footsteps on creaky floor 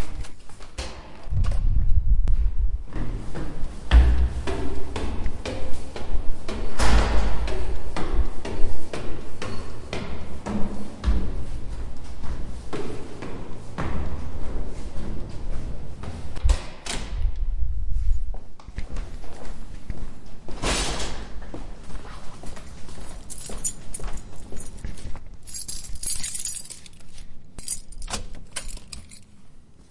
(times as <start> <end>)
21.4 27.2